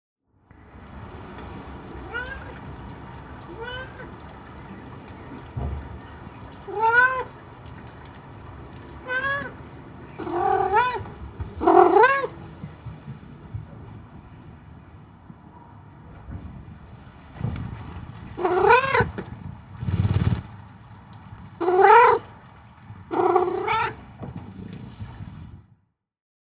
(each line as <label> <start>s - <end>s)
gives her fur a good shake 0.6s - 25.7s
soft meow 9.0s - 9.5s
soft meow 10.2s - 11.0s